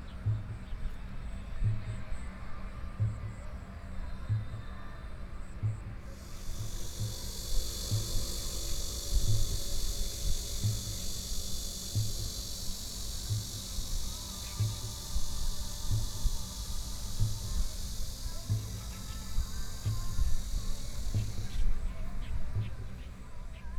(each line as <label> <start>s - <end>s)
Birdsong 6.1s - 23.7s